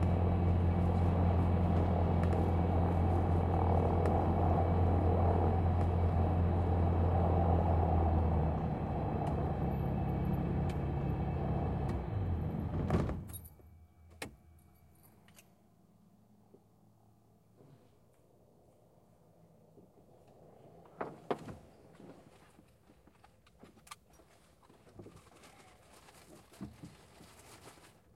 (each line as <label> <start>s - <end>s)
starting engine 0.0s - 13.4s